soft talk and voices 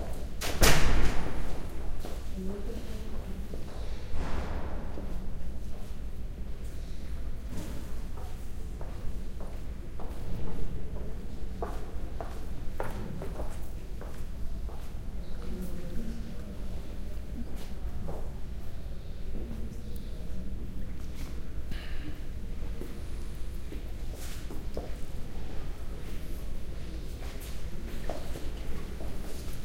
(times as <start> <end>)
9.8 23.9